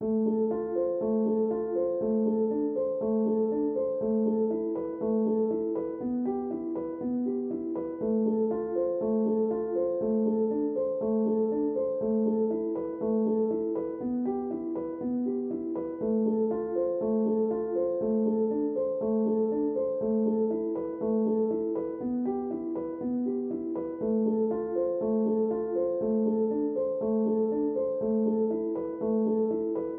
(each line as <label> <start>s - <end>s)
piano 0.0s - 29.9s